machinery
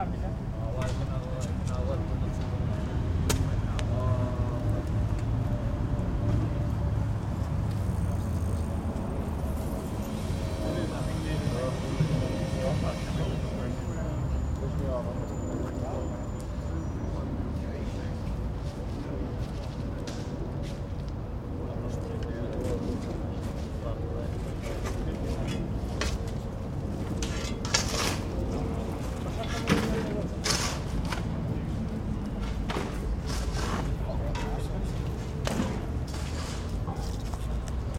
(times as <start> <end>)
9.4 15.3